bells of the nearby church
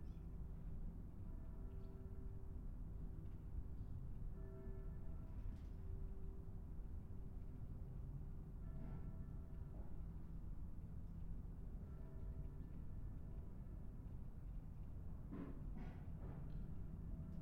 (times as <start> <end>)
0.6 14.0